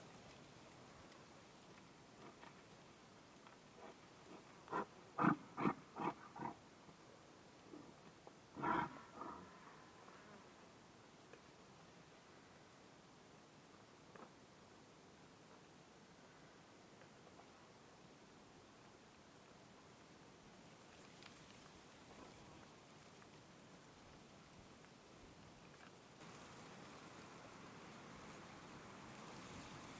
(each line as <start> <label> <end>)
3.8 Yak grunts 6.6
8.6 Yak grunts 9.8